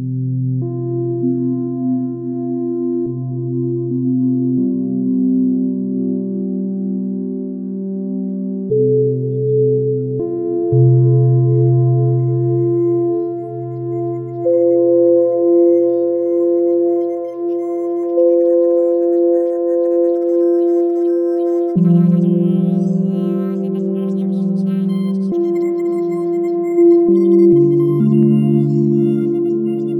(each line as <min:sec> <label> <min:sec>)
0:08.8 FM modulation 0:29.9